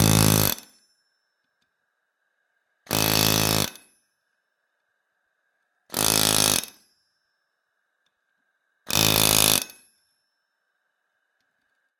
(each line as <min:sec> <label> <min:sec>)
0:00.0 pneumatic chisel hammer used to force hot steel 0:00.8
0:02.9 pneumatic chisel hammer used to force hot steel 0:04.0
0:05.9 pneumatic chisel hammer used to force hot steel 0:06.9
0:08.9 pneumatic chisel hammer used to force hot steel 0:09.9